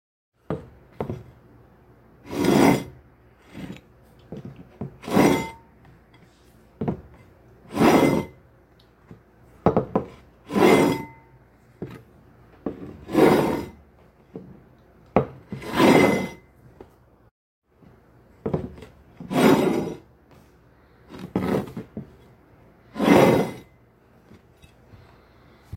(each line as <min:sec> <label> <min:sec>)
0:02.2 plate quickly sliding through a table 0:03.8
0:07.7 plate quickly sliding through a table 0:08.4
0:10.4 plate quickly sliding through a table 0:11.2
0:12.8 plate quickly sliding through a table 0:13.8
0:15.5 plate quickly sliding through a table 0:16.5
0:19.2 plate quickly sliding through a table 0:20.1
0:22.9 plate quickly sliding through a table 0:23.7